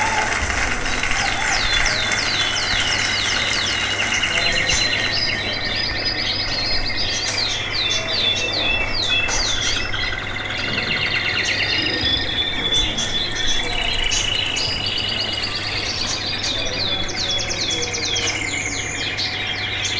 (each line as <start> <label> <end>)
0.0 local traffic passing by 19.9